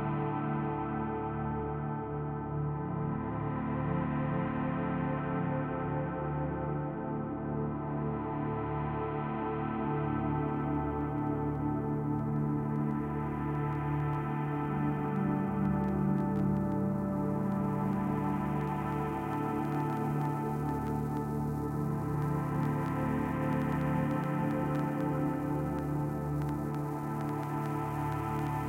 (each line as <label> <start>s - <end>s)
Warm and sad pad 0.0s - 28.6s